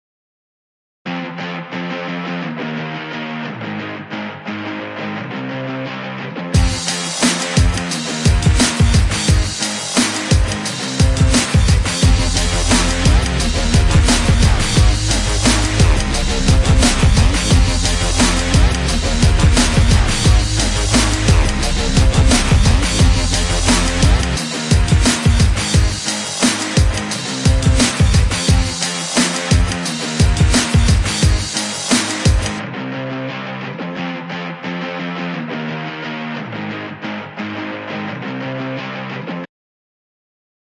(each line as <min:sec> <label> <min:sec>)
0:01.1 Guitar 0:39.5
0:06.6 drums 0:32.6